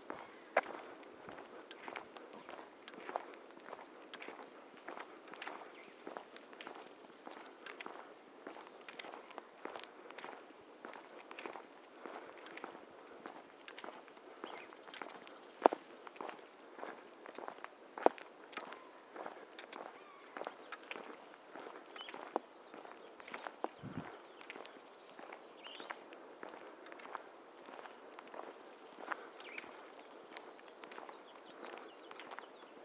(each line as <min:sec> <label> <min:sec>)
0:00.0 Walking on the road with a few people 0:32.8